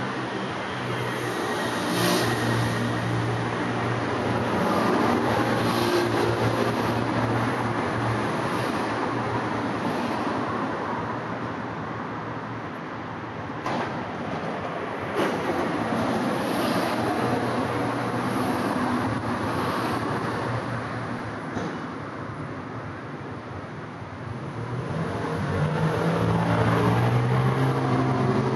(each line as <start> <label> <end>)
0.0 car 28.5